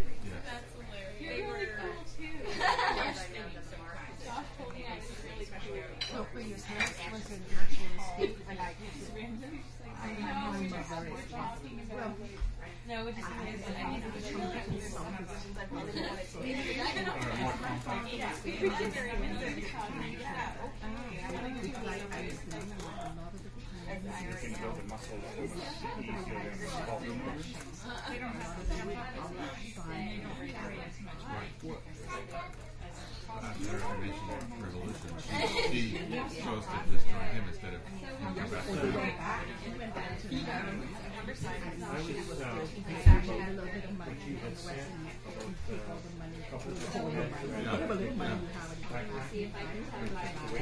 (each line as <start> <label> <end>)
0.0 People chatting 50.6
22.5 Laptop typing 23.0